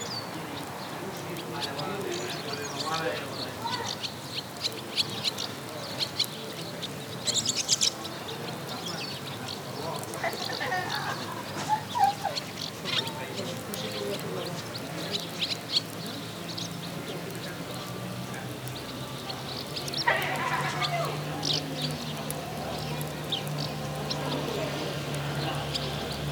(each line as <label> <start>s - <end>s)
pájaros 18.5s - 26.3s